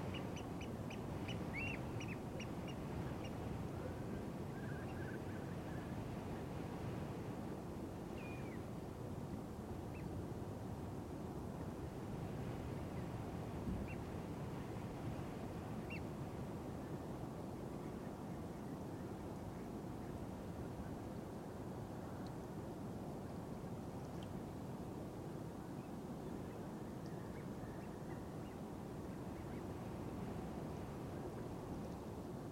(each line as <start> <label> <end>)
0.0 wind-noise 25.7